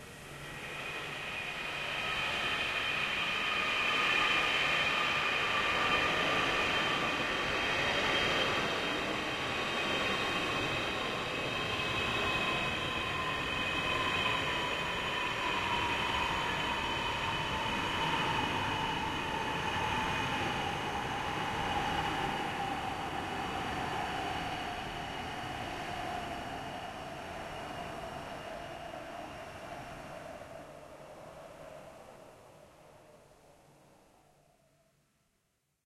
0.2s Distant Passenger Jet Landing 25.6s

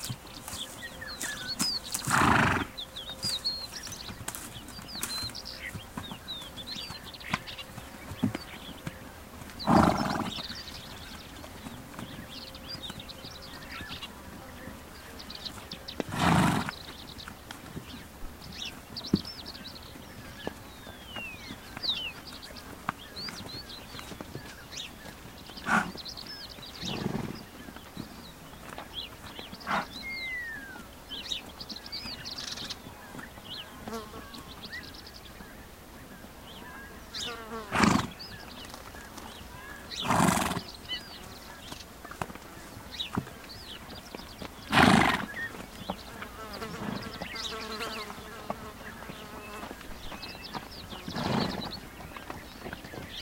0.0s Birds in BG 53.2s
0.0s sounds made by a horse while foraging 53.2s
25.6s snorts 26.0s

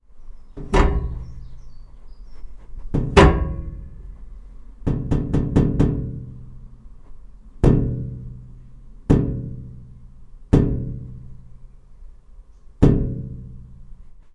0.6s tapping the electric heater 1.6s
2.8s tapping the electric heater 6.6s

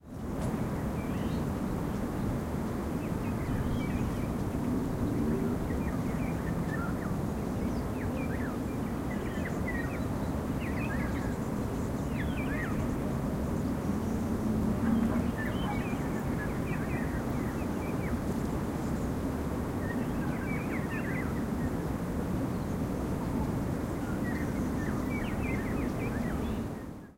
12.9s traffic 17.4s

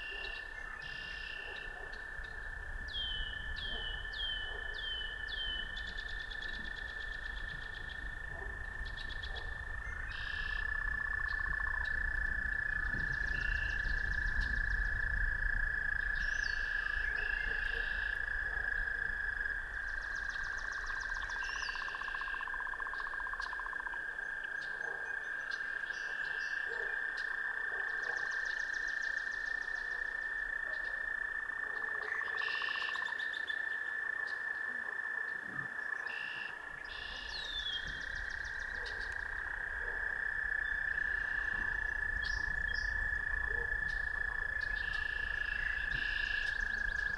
0.0s Active frogs 47.1s
0.0s birds 47.1s
0.0s wind 47.1s
1.3s distant dog barks 2.2s
3.6s distant dog barks 5.2s
8.2s distant dog barks 9.7s
17.0s distant dog barks 18.9s
24.6s distant dog barks 25.3s
26.0s distant dog barks 28.4s
29.8s distant dog barks 32.6s
38.6s distant dog barks 40.3s
43.4s distant dog barks 44.0s

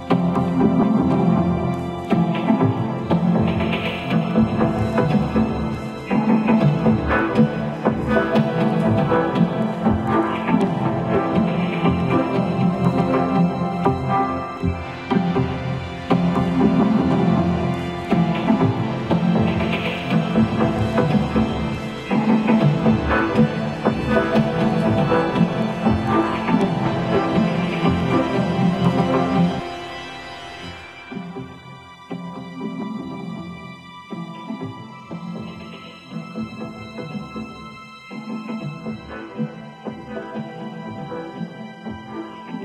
2.1s Drum Vocoder 29.6s

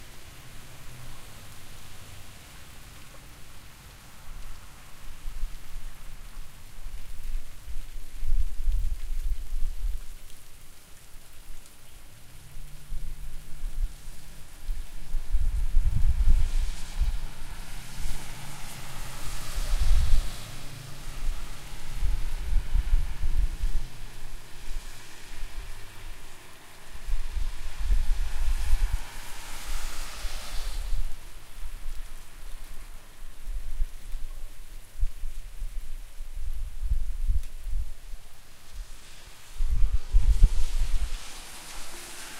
0.0s occasional cars going by 6.3s
0.0s Trees blowing in the wind 42.3s
12.2s occasional cars going by 33.3s
38.8s occasional cars going by 42.3s

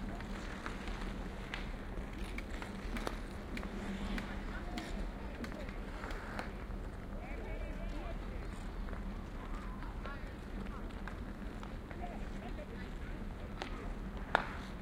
0.0s ice skating 14.8s
0.0s playing ice hockey 14.8s

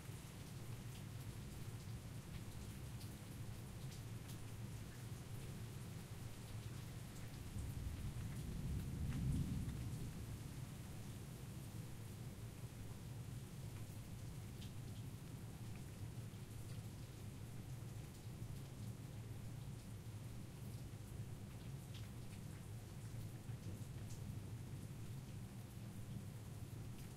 7.9s thunder 10.2s

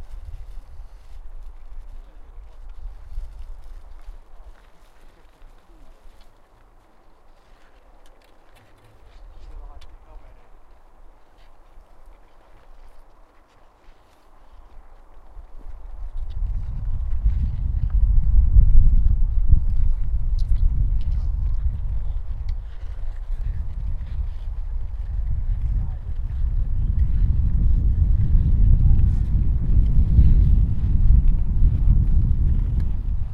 0.0s skiing 17.9s
0.0s Heavy rumble of the wind 33.3s
19.8s skiing 28.1s

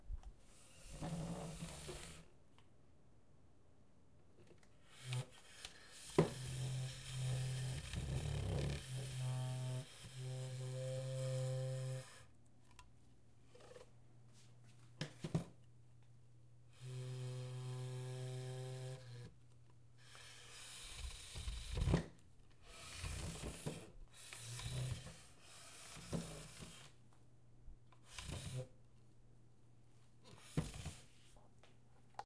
0.7s scraping chair 2.3s

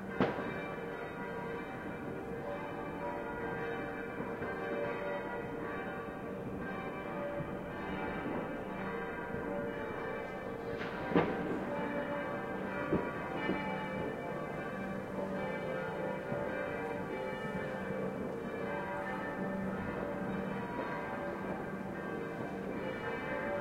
0.0s church bells 23.6s
0.1s fireworks 0.6s
10.7s fireworks 11.6s
12.9s fireworks 14.1s

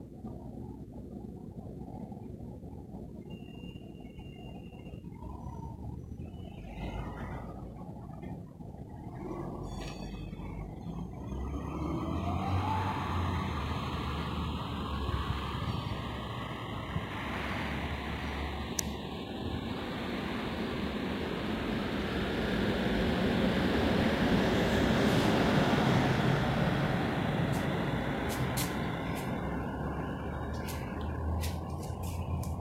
0.0s traffic ambiance hum 32.6s
4.3s distant tram noise 32.6s

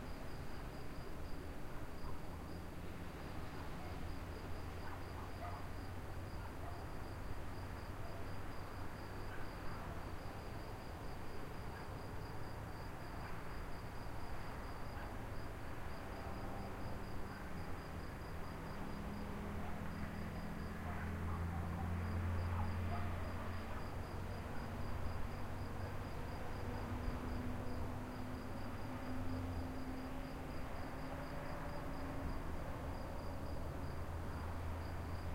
0.0s distant road 35.3s
0.0s crickets 35.3s
4.8s little dog barking 5.7s
20.8s little dog barking 23.4s

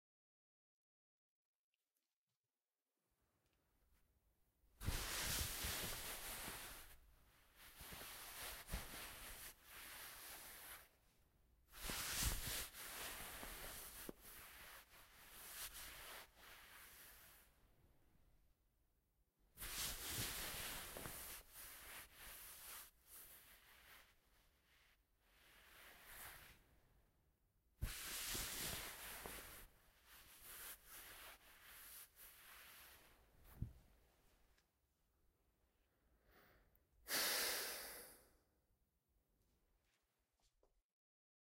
4.8s denim jacket and a wool coat rubbed together 11.1s
11.7s denim jacket and a wool coat rubbed together 17.6s
19.6s denim jacket and a wool coat rubbed together 26.8s
27.8s denim jacket and a wool coat rubbed together 33.7s
36.3s sigh 38.4s

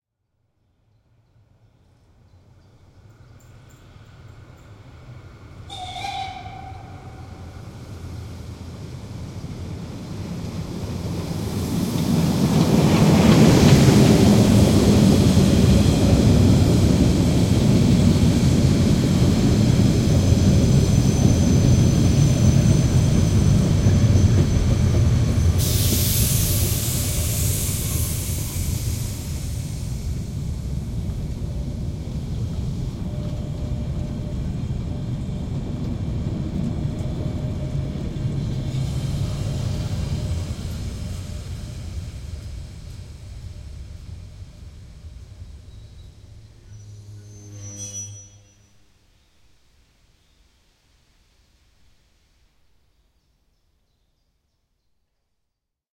4.6s Steam-Train Molli - with whistle and arrival 50.5s
5.7s whistle 7.7s
45.7s whistle 48.9s

